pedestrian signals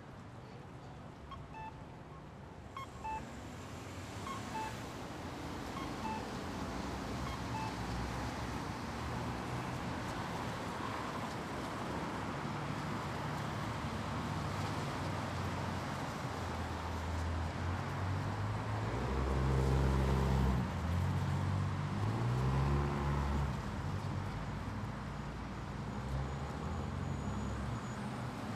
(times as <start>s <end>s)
1.2s 3.5s, 4.2s 4.9s, 5.6s 6.5s, 7.2s 8.0s